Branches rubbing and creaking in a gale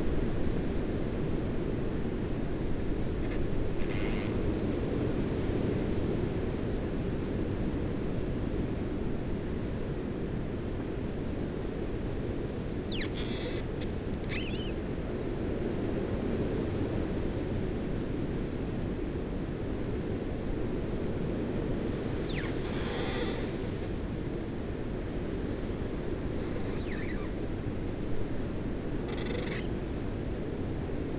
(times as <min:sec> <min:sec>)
0:21.8 0:24.5, 0:26.0 0:27.6, 0:29.1 0:29.7